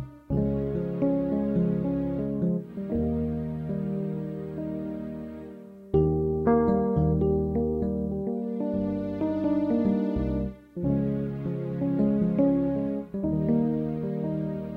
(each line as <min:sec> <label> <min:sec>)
0:00.0 Melodic wistful tune 0:14.7